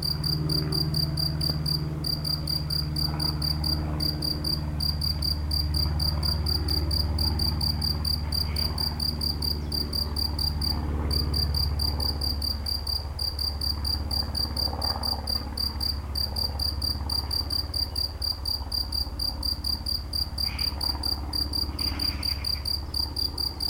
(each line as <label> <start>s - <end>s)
Locust singing in the grass 0.0s - 23.6s